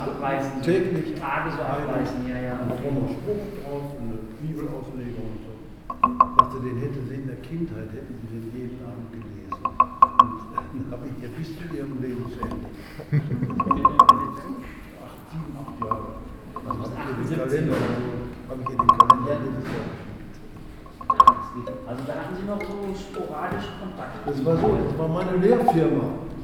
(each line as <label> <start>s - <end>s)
talking with interested listeners 0.0s - 26.4s
spontaneous jam session 5.6s - 6.9s
spontaneous jam session 9.1s - 26.4s